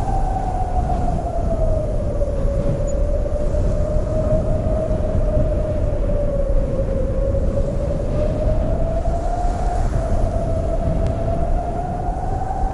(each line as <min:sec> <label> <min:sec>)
0:00.0 desert wind 0:12.7
0:00.0 wind rustling a dry corn field 0:12.7